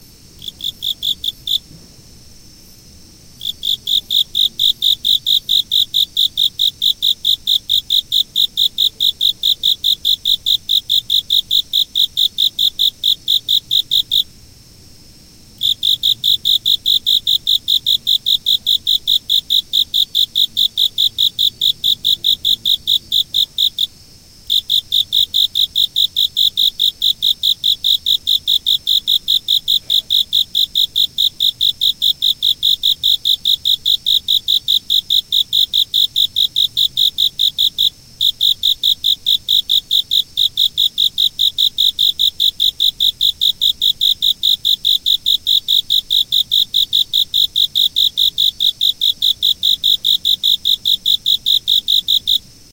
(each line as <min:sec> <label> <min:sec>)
0:00.0 autumn insects2 0:52.7